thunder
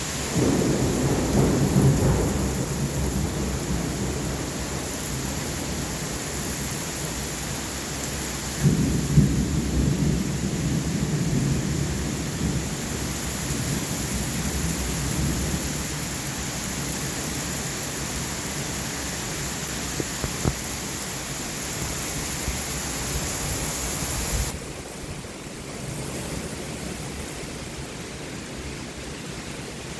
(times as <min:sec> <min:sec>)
0:00.3 0:04.9, 0:08.6 0:12.8